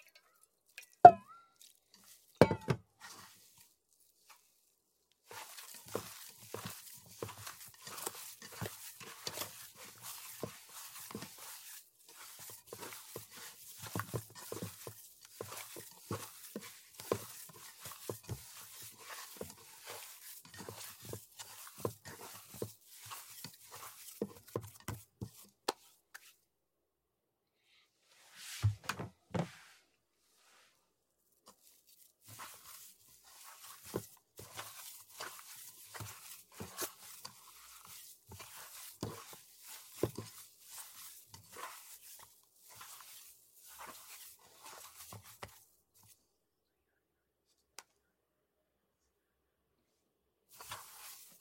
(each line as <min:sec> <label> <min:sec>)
0:00.0 Kneading dough in metal pot 0:04.5
0:05.2 Kneading dough in metal pot 0:26.2
0:31.4 Kneading dough in metal pot 0:46.1
0:50.5 Kneading dough in metal pot 0:51.4